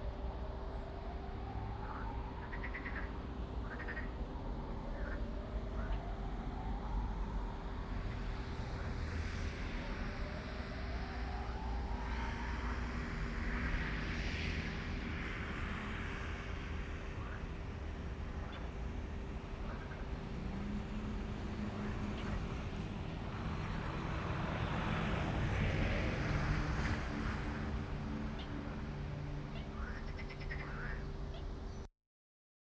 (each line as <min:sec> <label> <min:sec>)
0:00.0 sirens 0:31.2
0:00.0 traffic 0:31.9
0:01.8 Frogs 0:06.7
0:17.1 Frogs 0:17.5
0:18.3 Frogs 0:18.8
0:19.6 Frogs 0:20.4
0:29.5 Frogs 0:31.5